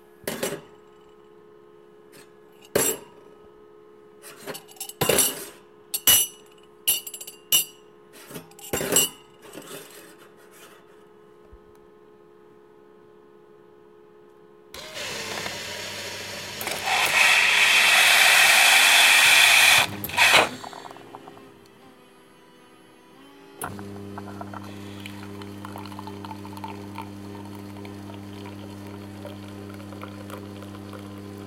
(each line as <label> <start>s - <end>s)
Coffe-Machine cup auto fill 14.8s - 21.6s
Coffe-Machine cup auto fill 23.6s - 31.4s